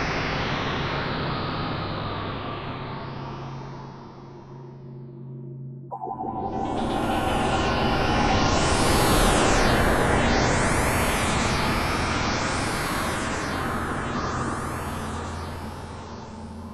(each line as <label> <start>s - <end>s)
darker atonal horror pads / stabs 5.9s - 12.4s